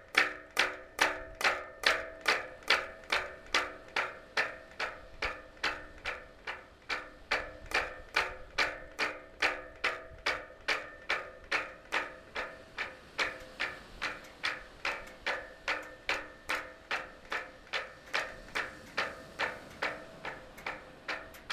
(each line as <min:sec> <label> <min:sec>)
0:00.0 Wind on the boats masts 0:21.5